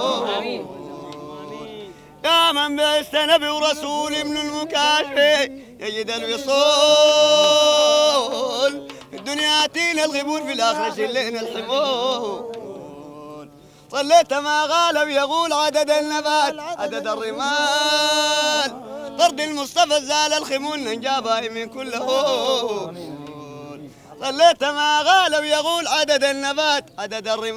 0.0s singing 27.5s

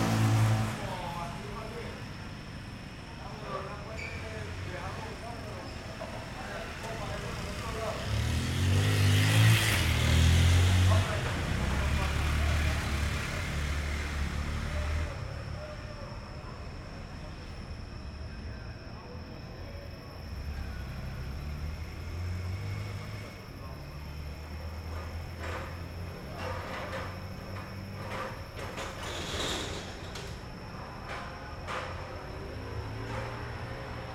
0.0s intento de una persona de encender su motocicleta 34.1s
3.1s pasar de las motocicletas 16.4s

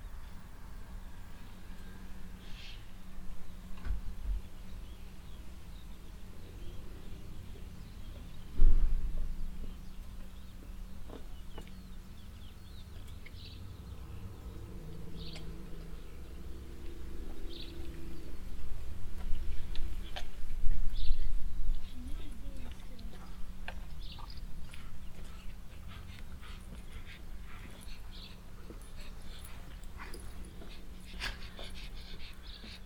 0.0s birds 32.8s
0.0s boy with a dog 32.8s
3.0s Passengers walking by on the footwalk 32.8s

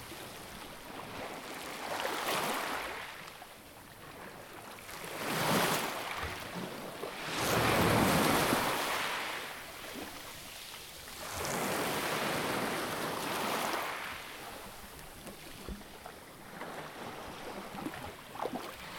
7.1s Waves on pebbles 18.9s

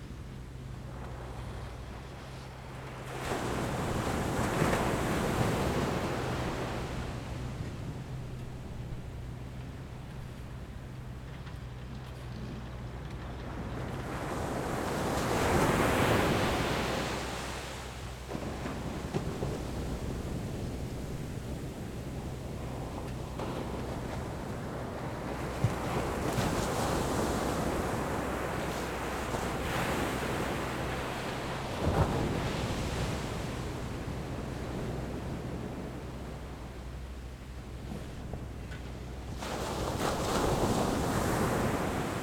0.0s waves 42.2s

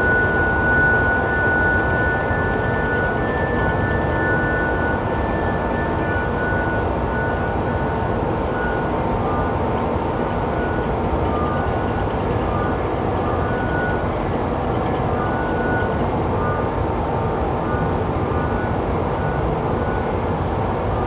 0.0s Harmonic tones from massive coal conveyer belts 21.0s

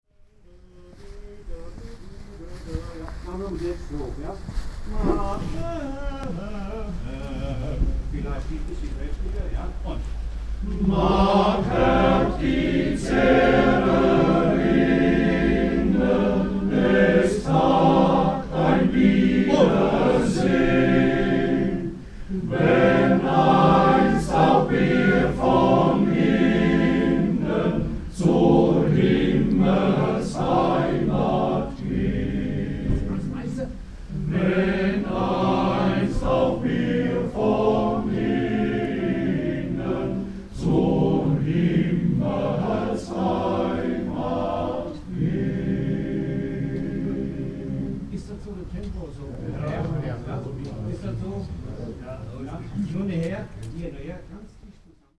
0.2s choir rehearses 53.6s

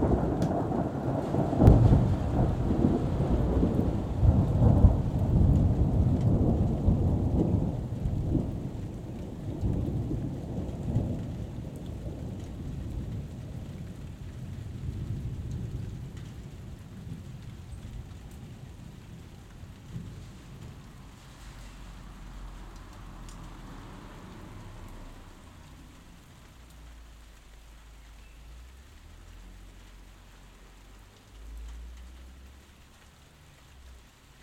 0.0s Thunderstorm 26.6s
20.1s passing traffic 34.4s

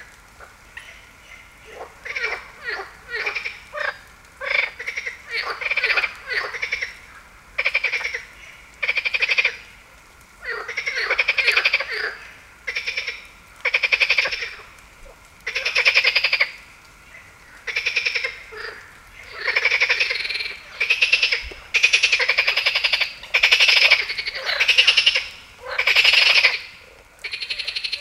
0.0s frog 9.8s
10.4s frog 28.0s

